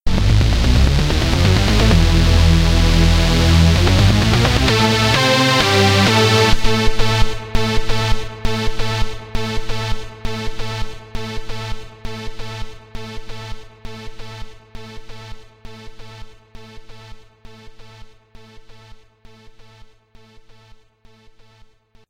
0.0s Action Musical Promo Intro/Outro 9.9s

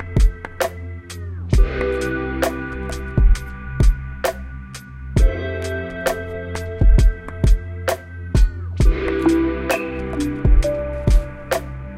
0.0s chill background music 11.9s

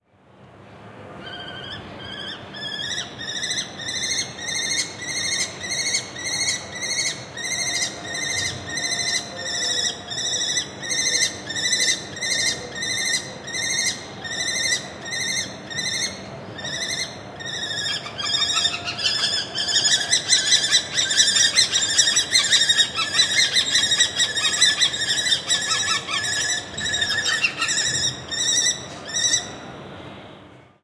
0.0s City hum 30.8s
1.2s male Lesser Kestrel (Falco naumanni) screeching 29.6s

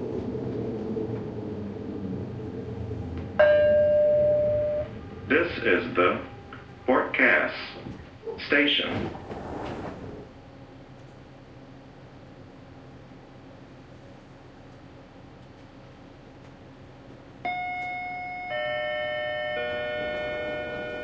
3.4s announcement 9.2s

